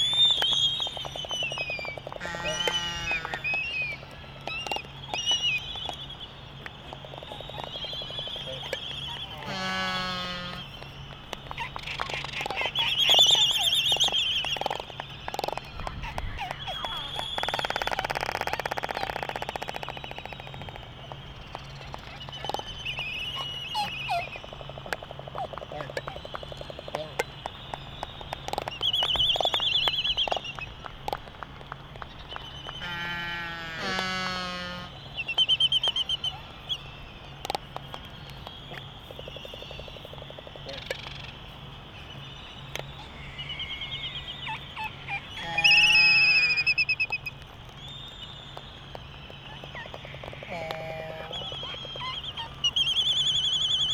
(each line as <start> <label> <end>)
0.0 canaries 31.2
0.0 calls and bill clapperings 53.9
0.0 white terns 53.9
42.0 canaries 47.5
48.2 canaries 53.9